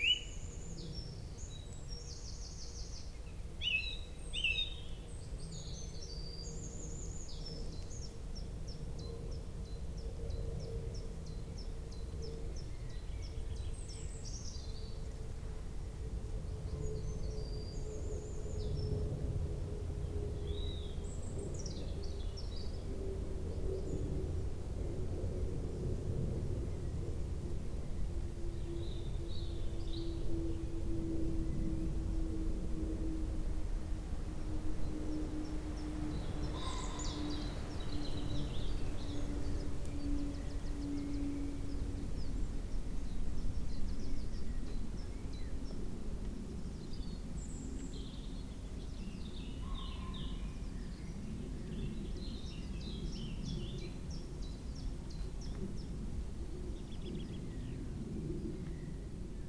0.0s aeroplane 59.4s
0.0s beautiful bird song 59.4s
28.6s pheasants distantly 42.6s

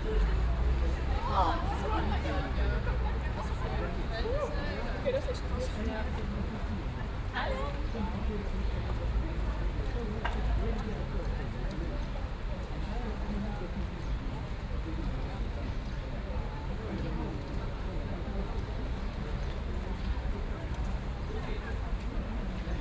0.0s rainy day 22.8s

